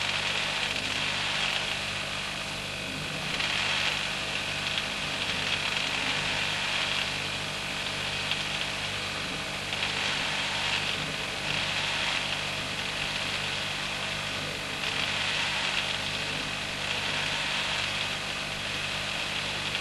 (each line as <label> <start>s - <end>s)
under-counter fridge freezer 0.0s - 19.8s